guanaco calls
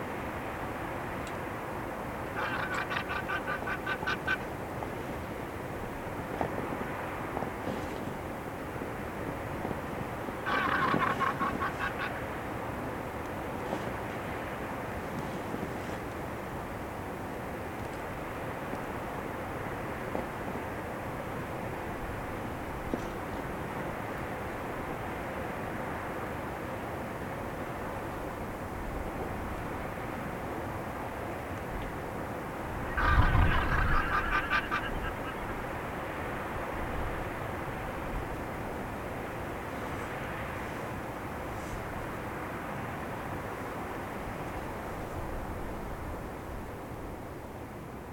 0:02.3 0:04.5, 0:10.4 0:12.2, 0:32.8 0:35.6

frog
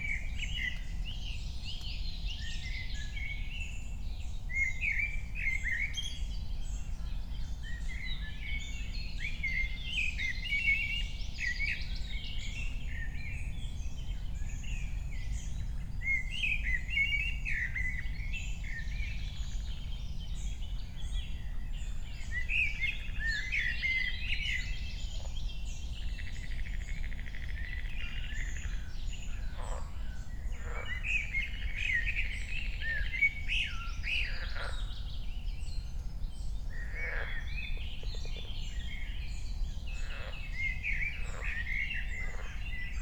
0:26.1 0:33.3, 0:34.0 0:35.0, 0:36.7 0:38.4, 0:39.9 0:43.0

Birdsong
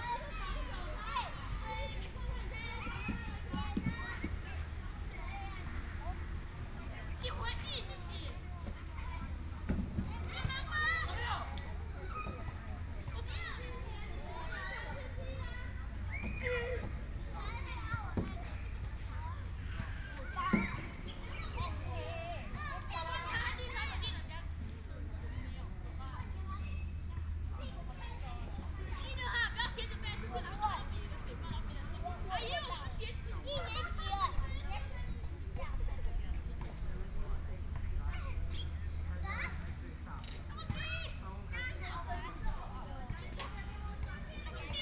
0:17.4 0:22.8

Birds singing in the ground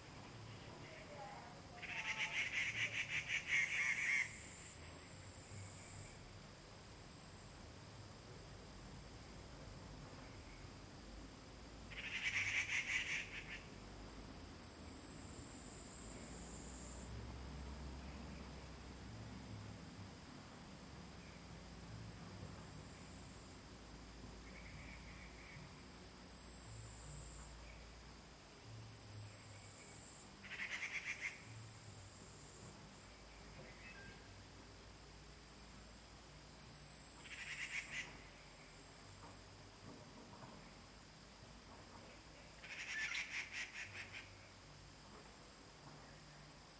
0:11.9 0:13.7, 0:29.3 0:31.6, 0:33.4 0:34.3, 0:37.2 0:38.8, 0:42.1 0:44.6

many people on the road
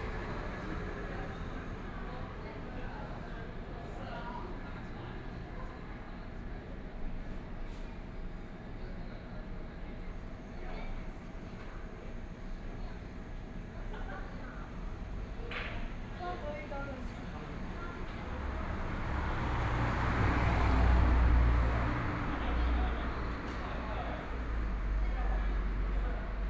0:13.9 0:26.4

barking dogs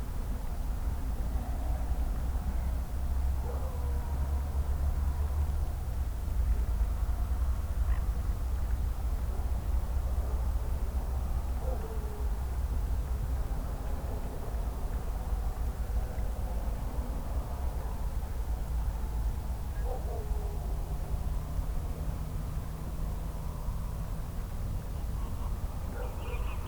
0:25.9 0:26.5

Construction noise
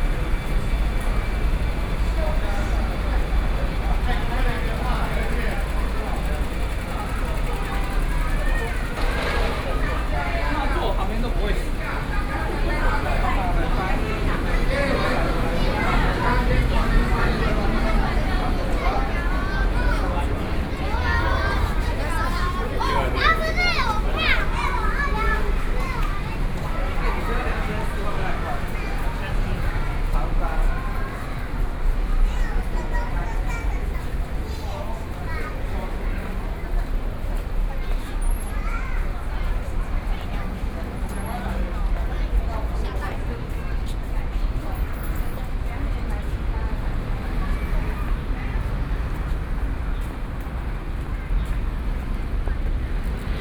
0:00.0 0:37.1

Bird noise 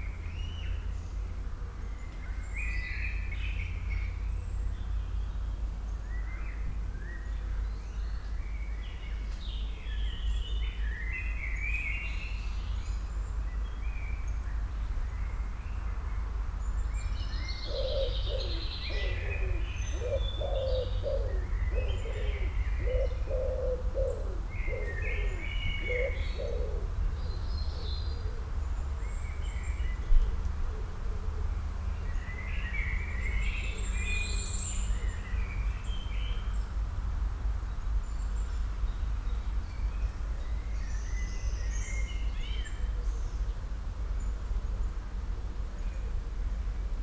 0:00.0 0:36.8

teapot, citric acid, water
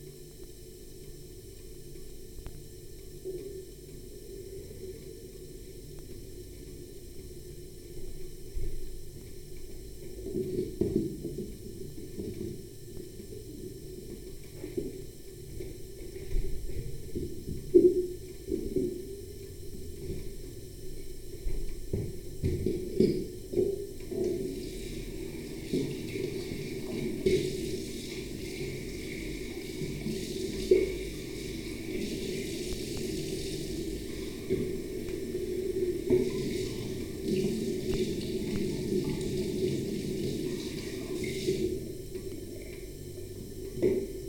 0:24.0 0:42.6

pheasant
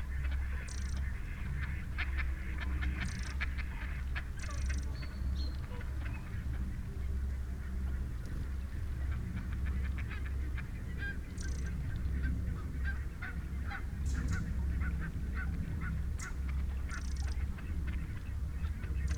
0:09.1 0:19.1

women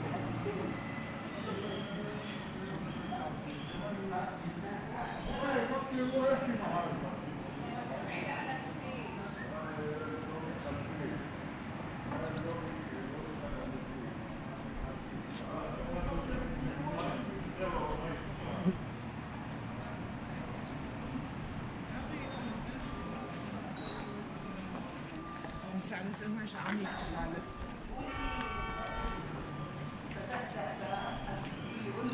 0:24.0 0:32.1

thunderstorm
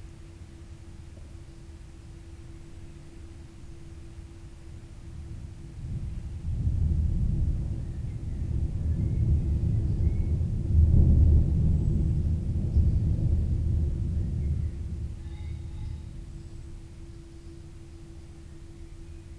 0:05.8 0:16.4

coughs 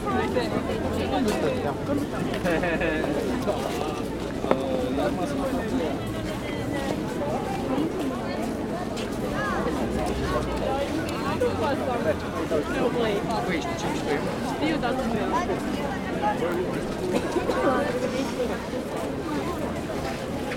0:17.1 0:17.6

